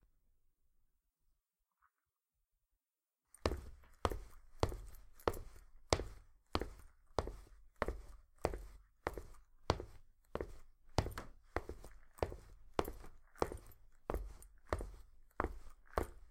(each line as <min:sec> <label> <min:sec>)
0:03.4 Walking in boots on hard surface 0:16.3